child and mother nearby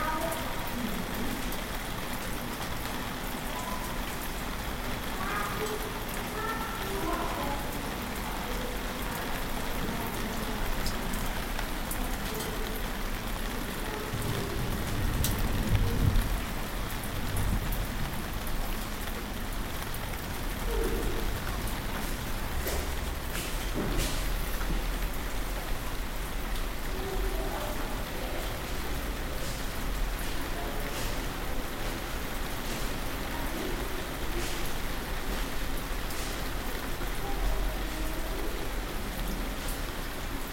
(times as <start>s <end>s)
5.1s 7.8s